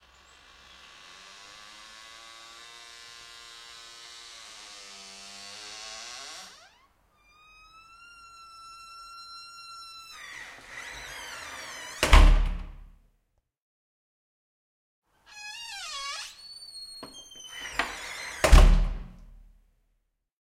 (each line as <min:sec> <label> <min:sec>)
0:04.1 Closing Sqeezing Wooden Door 0:12.9
0:15.3 Closing Sqeezing Wooden Door 0:19.4